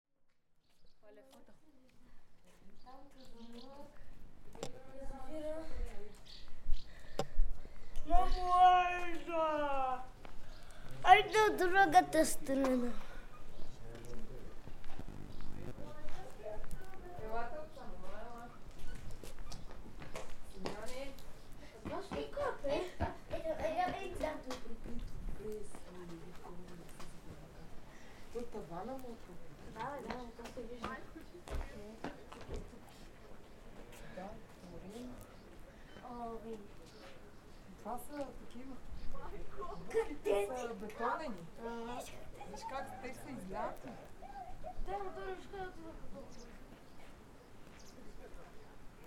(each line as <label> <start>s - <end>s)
visitors who talk 1.0s - 49.0s
birds chirping 2.6s - 4.1s
birds chirping 10.2s - 16.0s